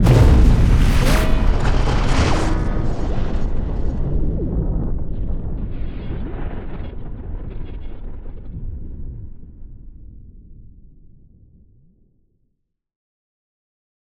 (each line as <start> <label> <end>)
0.0 Impact 5.6
0.0 rumble 10.9